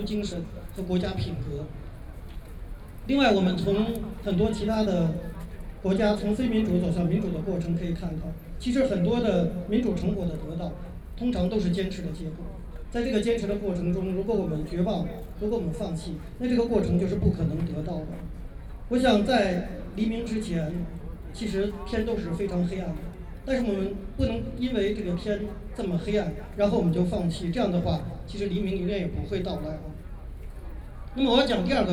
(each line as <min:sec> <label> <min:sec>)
0:00.0 Speech 0:01.9
0:02.9 Speech 0:31.9